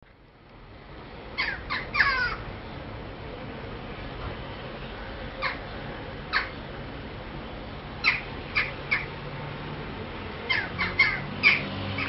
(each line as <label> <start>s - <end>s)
crow bird 1.4s - 2.4s
crow bird 5.4s - 5.6s
crow bird 6.3s - 6.6s
crow bird 8.0s - 9.1s
crow bird 10.5s - 12.0s